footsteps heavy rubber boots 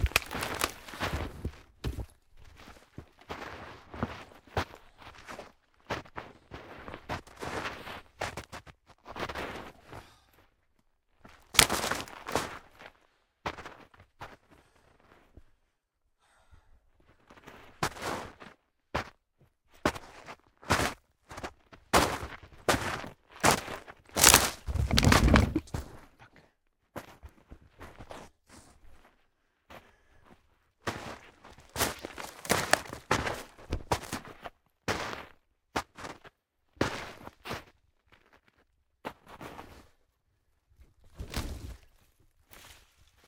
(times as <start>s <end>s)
24.2s 25.8s